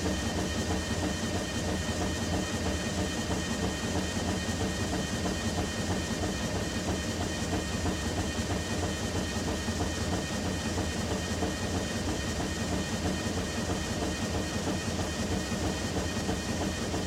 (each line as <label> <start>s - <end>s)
machine 0.0s - 17.0s